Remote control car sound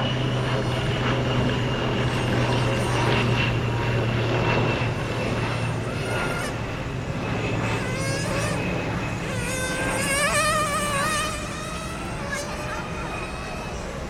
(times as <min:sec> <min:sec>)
0:04.9 0:06.6, 0:07.7 0:14.0